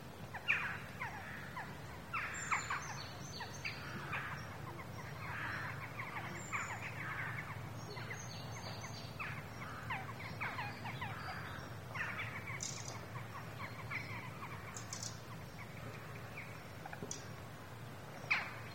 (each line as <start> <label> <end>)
0.4 Crows 2.9
3.7 Crows 8.2
9.2 Crows 13.0